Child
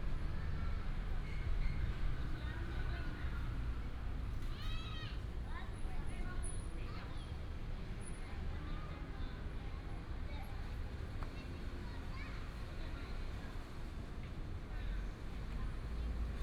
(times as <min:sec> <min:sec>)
0:04.4 0:05.2, 0:11.2 0:13.1